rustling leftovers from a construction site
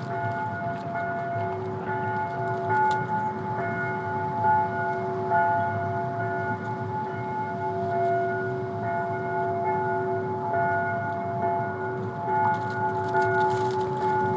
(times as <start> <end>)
0.0 3.8, 12.0 14.3